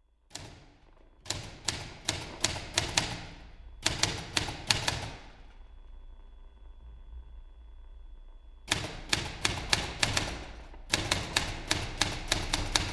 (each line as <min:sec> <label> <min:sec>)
0:00.3 typewriter 0:05.3
0:08.7 typewriter 0:12.9